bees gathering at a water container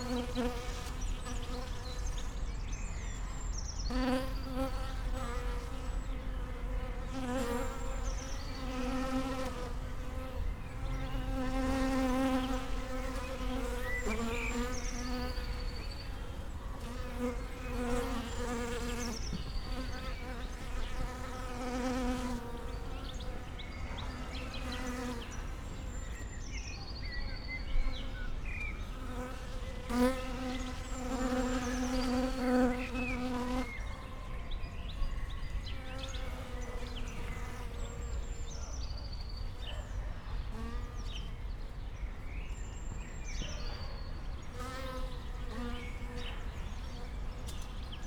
0.0s 2.5s, 3.9s 25.6s, 27.8s 33.8s

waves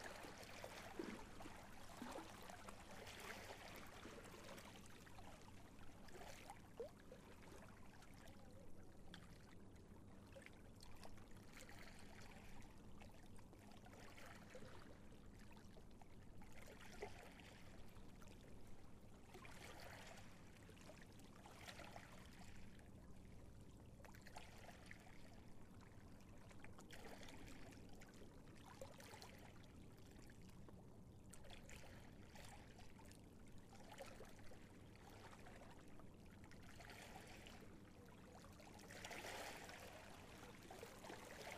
0.0s 9.6s, 10.2s 23.2s, 31.3s 41.5s

